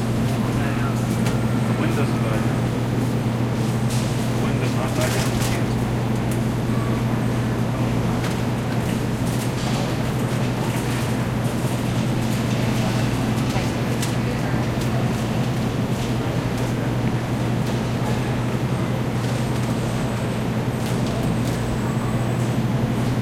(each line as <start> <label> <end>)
0.0 customer ambience 23.1
0.0 refrigerators 23.2